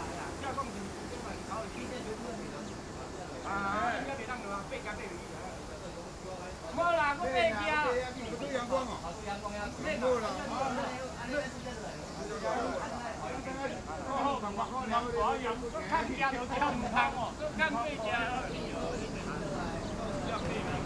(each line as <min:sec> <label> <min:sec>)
0:00.0 Stream 0:20.8
0:15.5 Traffic Sound 0:20.8